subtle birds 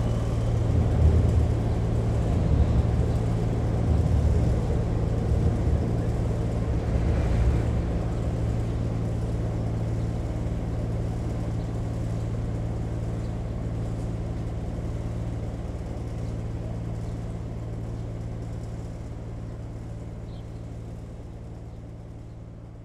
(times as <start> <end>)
20.2 20.9